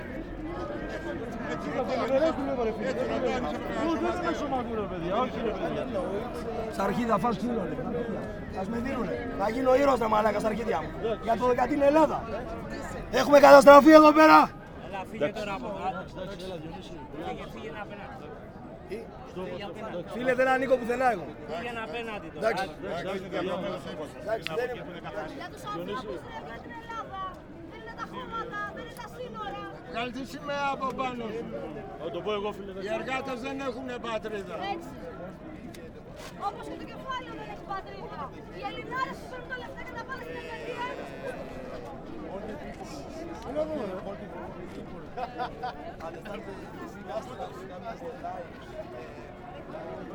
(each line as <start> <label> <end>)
6.4 Protesters taking nationalists to task 14.7